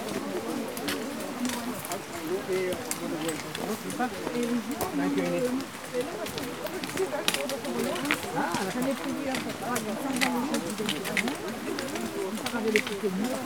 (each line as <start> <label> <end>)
0.0 group of hikers go up 13.4